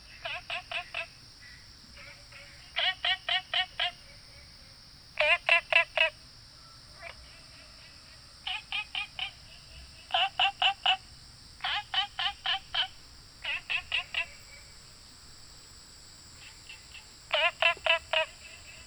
Frogs chirping 0.0 - 18.8
Insects called 0.0 - 18.8

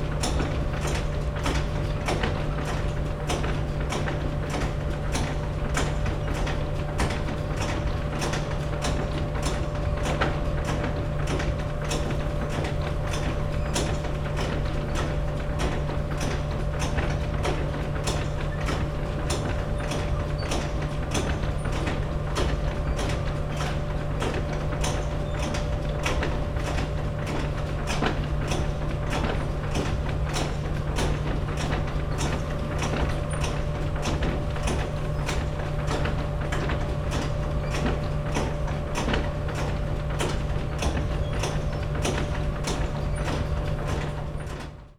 conveyer belt 0.0 - 44.9

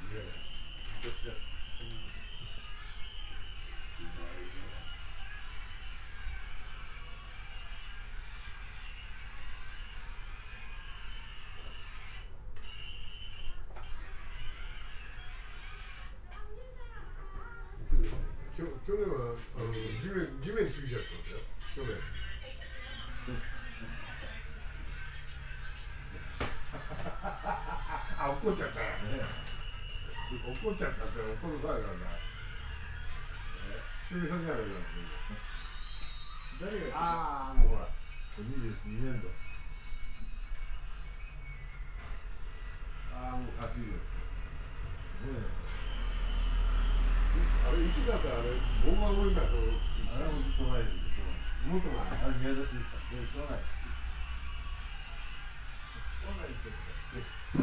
two gentlemen watching television and laughing 19.0 - 57.6

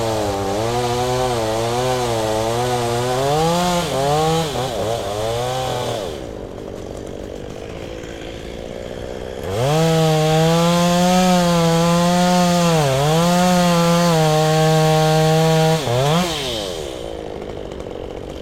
chainsaw 0.0 - 18.4

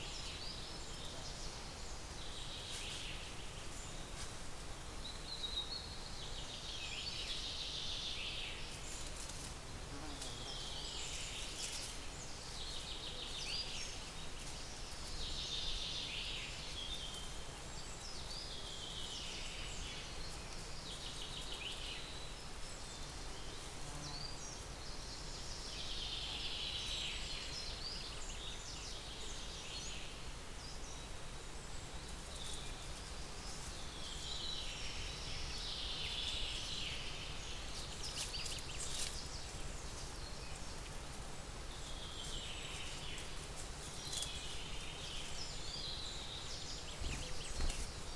Birds 41.6 - 48.1

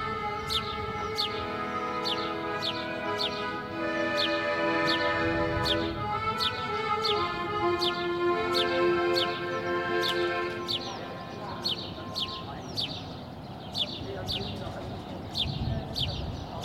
playing the accordion 0.0 - 13.1
busker on the street 0.0 - 16.6

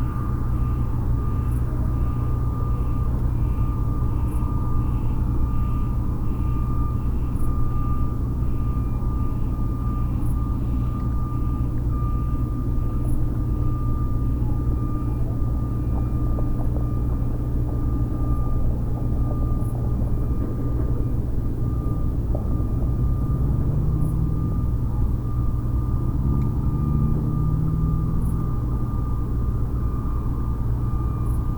alarms 0.0 - 31.5
traffic 0.0 - 31.5
trucks 0.0 - 31.5
wind 0.0 - 31.5

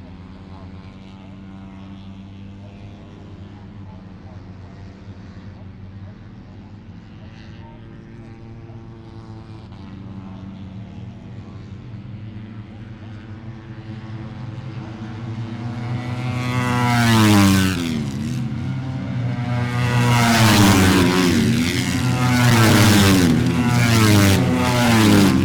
Motorcycle 0.0 - 25.4

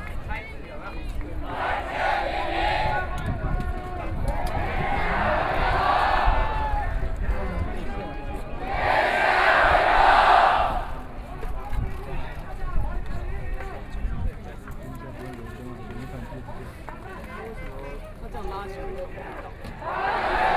singing 0.8 - 11.1
Collective shouting 1.5 - 3.1
Collective shouting 4.4 - 6.7
Collective shouting 8.6 - 11.0
singing 19.2 - 20.5
Collective shouting 19.8 - 20.5

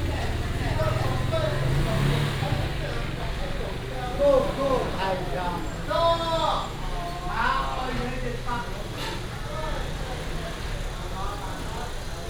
Walking through the market 0.0 - 12.2

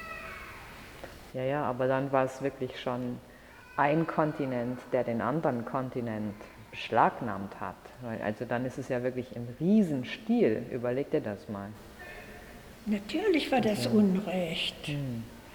special guided tour 11.8 - 15.5

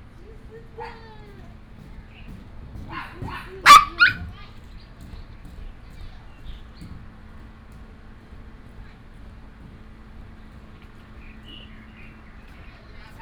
Birds sound 0.0 - 13.2
Tourists 0.0 - 13.2
Traffic sound 0.0 - 13.2
Dog sounds 2.8 - 4.5

